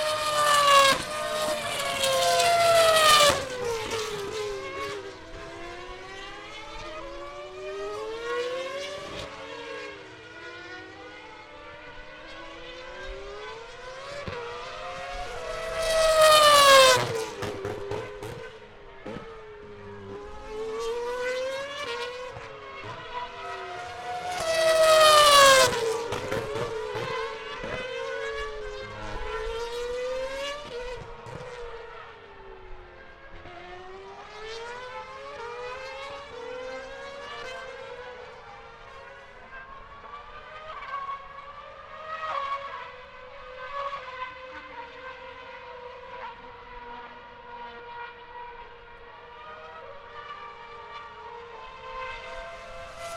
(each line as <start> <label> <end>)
0.0 F1 Cars at screeching past a corner 53.1